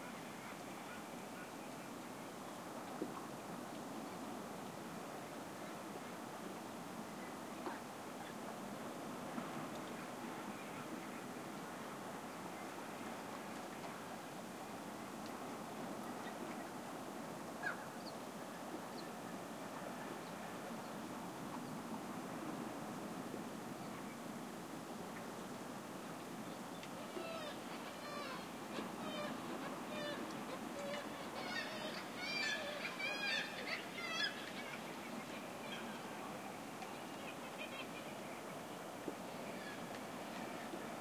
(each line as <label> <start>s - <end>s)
sea 0.0s - 41.0s
seagull screeching calls 27.1s - 30.2s
seagull screeching calls 30.8s - 34.8s